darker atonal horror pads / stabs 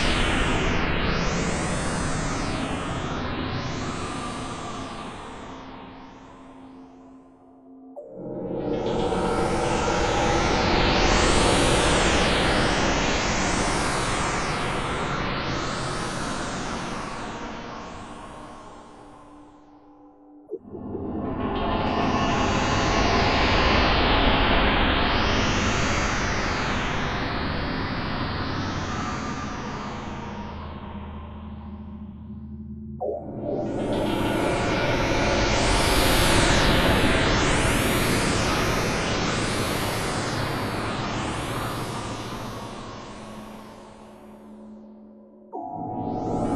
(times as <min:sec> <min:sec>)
0:29.5 0:46.5